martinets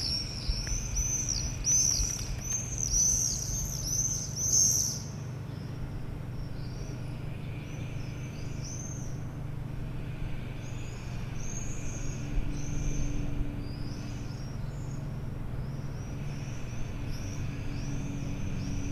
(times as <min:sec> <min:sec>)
0:00.0 0:05.0